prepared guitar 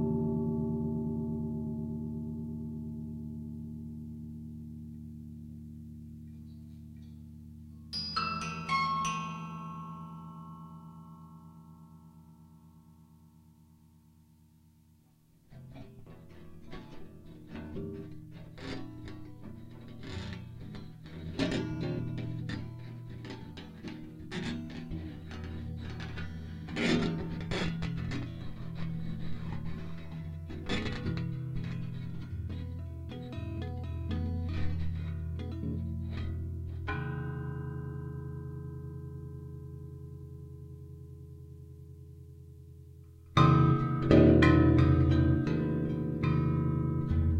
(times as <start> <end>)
15.4 40.2, 43.0 47.3